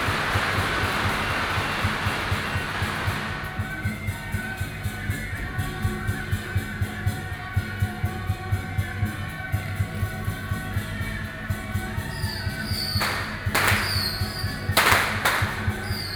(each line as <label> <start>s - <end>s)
Firework 0.0s - 4.6s
Firework 11.6s - 16.1s